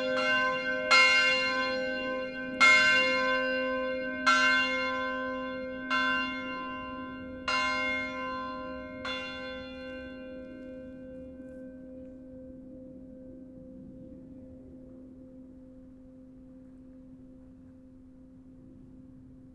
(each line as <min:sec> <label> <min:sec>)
0:00.0 Church bells 0:16.5